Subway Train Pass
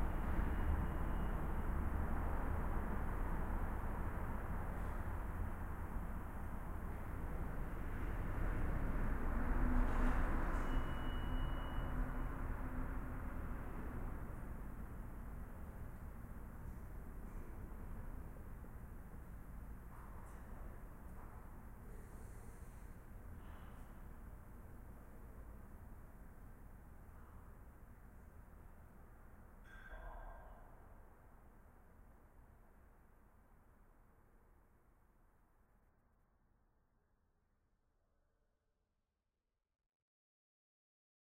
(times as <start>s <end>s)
0.0s 18.9s